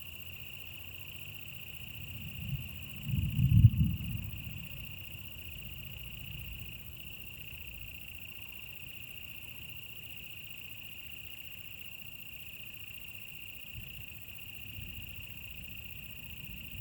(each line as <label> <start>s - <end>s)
insects 0.0s - 16.8s